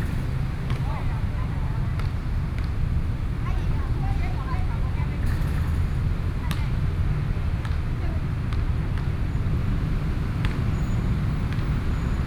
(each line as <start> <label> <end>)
0.0 Traffic Noise 12.2